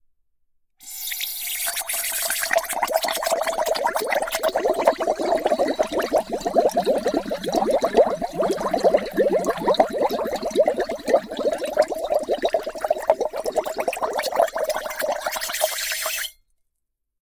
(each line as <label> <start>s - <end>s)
Bubbles Descend & Ascend 0.9s - 16.2s